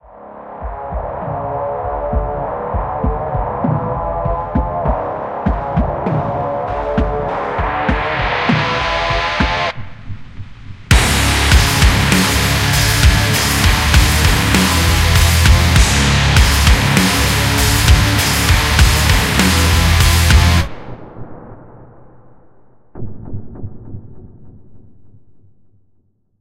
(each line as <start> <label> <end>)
10.9 guitar 20.7